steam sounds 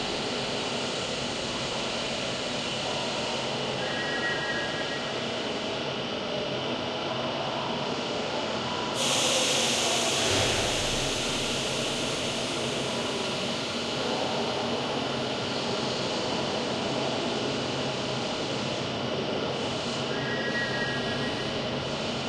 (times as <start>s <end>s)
8.9s 18.0s